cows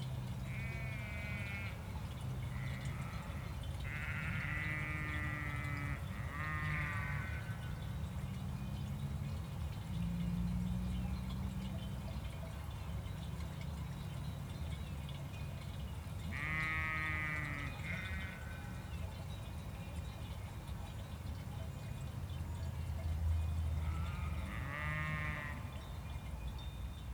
0:02.5 0:07.8, 0:16.3 0:18.9, 0:23.7 0:25.8

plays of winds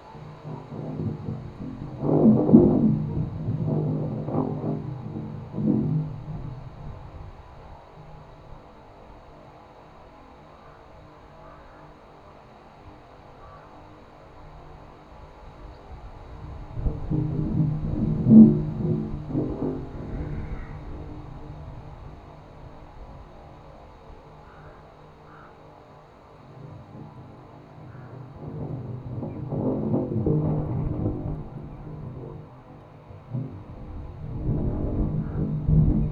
0:12.8 0:36.1

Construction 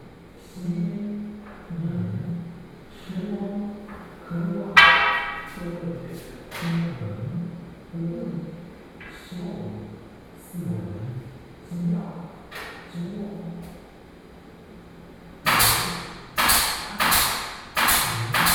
0:03.9 0:07.0, 0:15.4 0:18.5

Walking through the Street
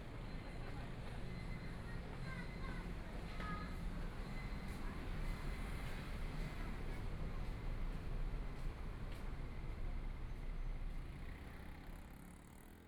0:04.6 0:11.4

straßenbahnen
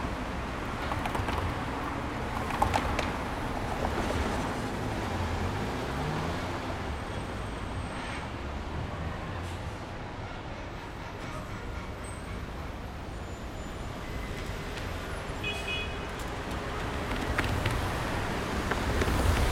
0:06.6 0:17.1

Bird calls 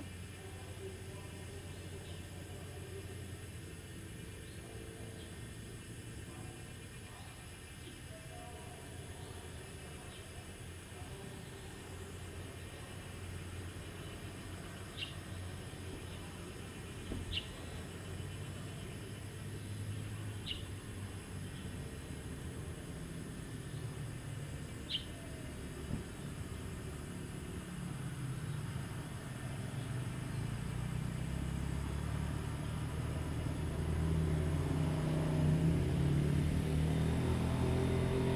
0:13.9 0:19.1, 0:24.7 0:25.5

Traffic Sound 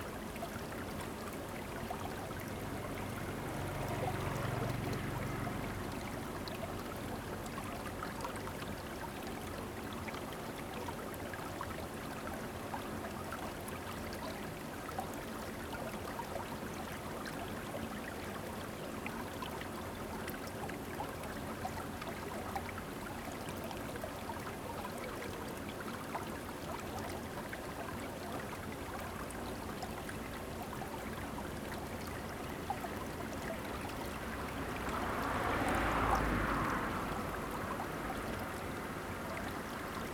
0:32.2 0:40.1

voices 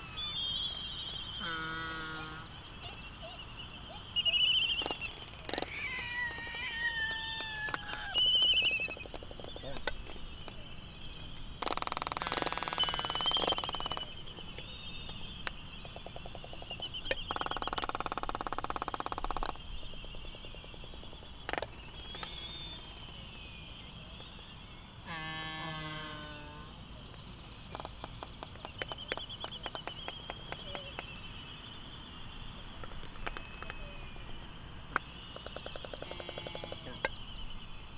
0:00.0 0:14.6, 0:32.8 0:37.2

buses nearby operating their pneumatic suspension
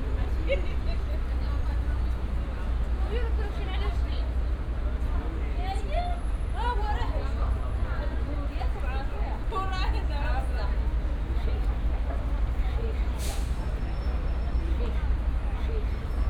0:11.1 0:16.2

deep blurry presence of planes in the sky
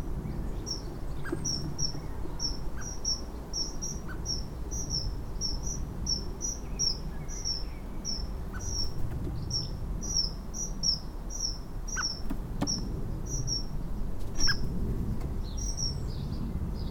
0:12.8 0:16.9

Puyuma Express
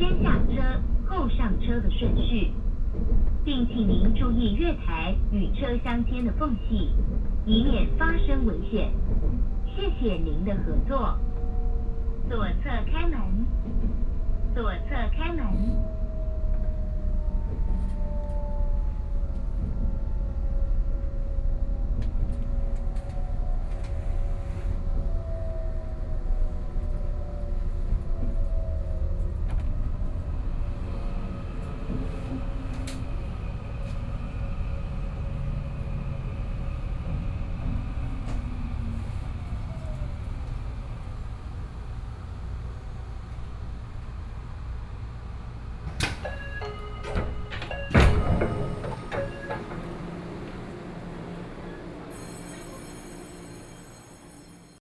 0:38.3 0:53.9

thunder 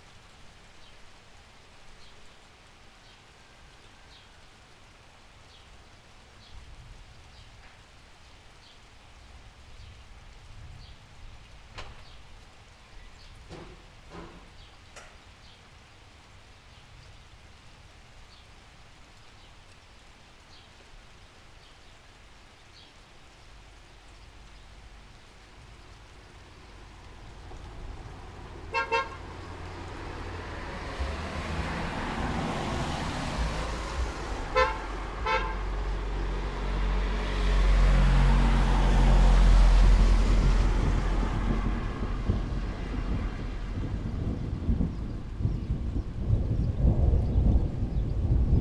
0:26.7 0:48.6

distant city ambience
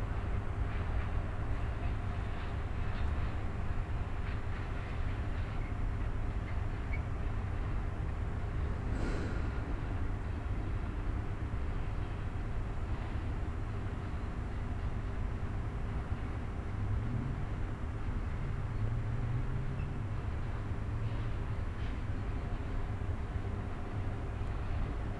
0:07.8 0:11.5

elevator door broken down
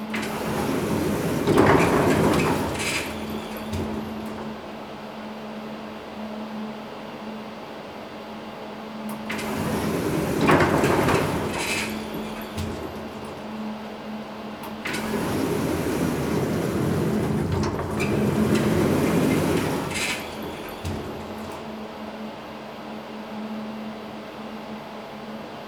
0:00.0 0:05.3, 0:09.2 0:13.9, 0:14.6 0:22.1

